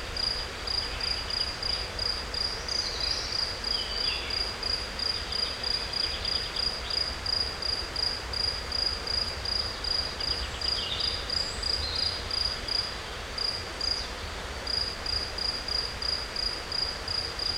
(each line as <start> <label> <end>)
0.0 crickets 17.5
0.0 insects 17.5
0.0 river 17.5
10.2 Bird's songs 12.2